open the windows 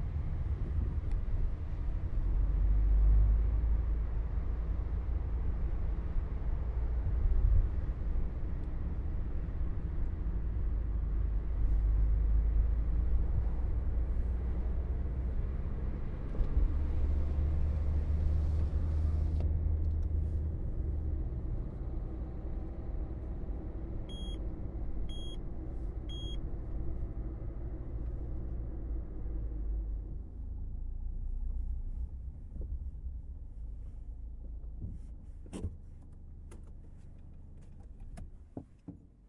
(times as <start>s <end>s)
31.2s 39.2s